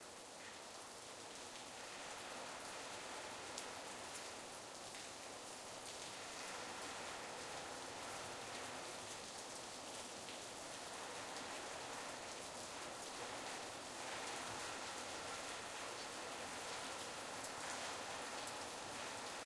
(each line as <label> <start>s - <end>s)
Mild Rain 0.0s - 19.4s